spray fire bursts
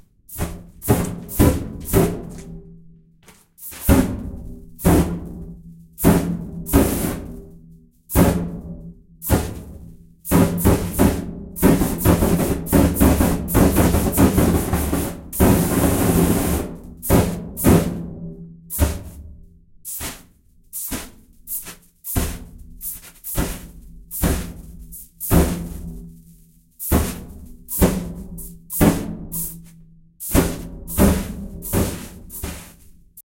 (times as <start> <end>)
0.3 2.4, 3.6 4.1, 6.0 7.3, 9.2 9.7, 15.4 18.0, 18.7 19.2, 19.9 33.2